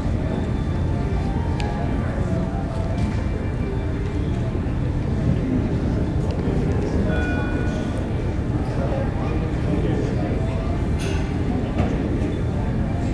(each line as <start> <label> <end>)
6.6 ship's bell 9.5